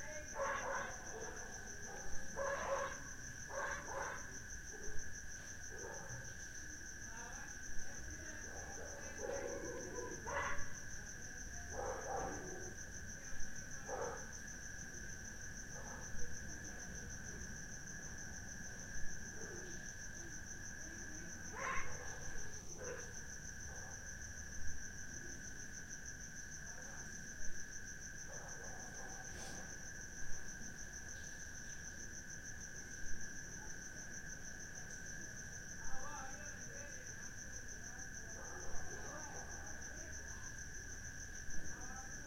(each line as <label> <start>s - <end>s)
crickets 0.0s - 42.2s
barking 0.4s - 4.2s
barking 8.6s - 10.7s
barking 11.7s - 12.5s
barking 21.5s - 22.2s